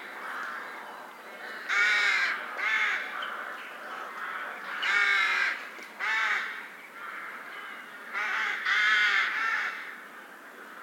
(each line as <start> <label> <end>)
0.0 evening birds gathering 10.8